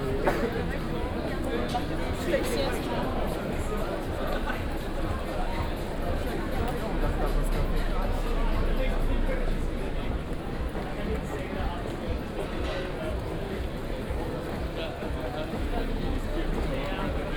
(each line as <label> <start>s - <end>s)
many people are on the street 0.0s - 17.3s